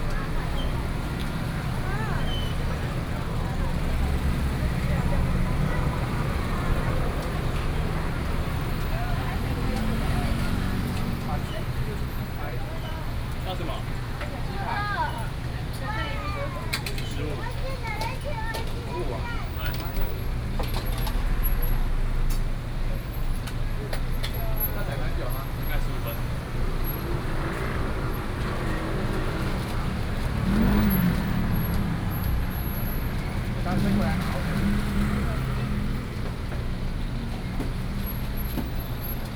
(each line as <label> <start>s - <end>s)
Traffic Sound 0.0s - 39.3s